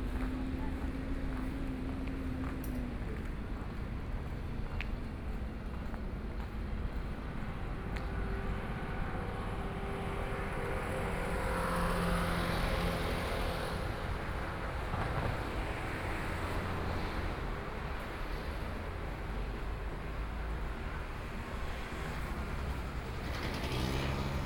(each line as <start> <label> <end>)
0.0 Traffic Sound 24.4
0.0 walking on the Road 24.4